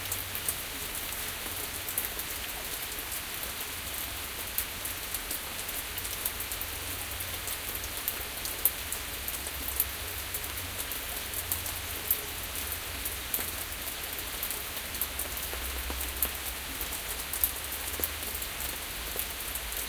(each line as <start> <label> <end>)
0.0 rain 19.8